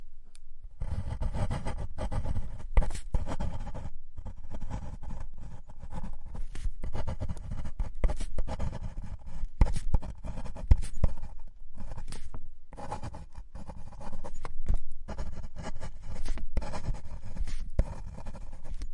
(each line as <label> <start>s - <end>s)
Writting Quickly Fine Tip Pen on Paper on Glass 6.0s - 18.9s